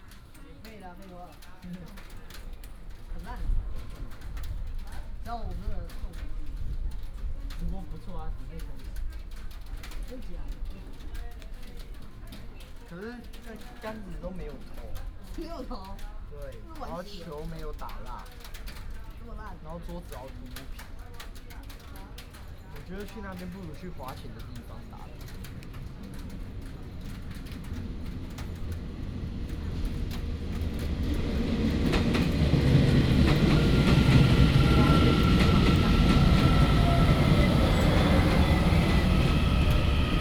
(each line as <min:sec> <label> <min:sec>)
0:22.9 Train arrived 0:40.2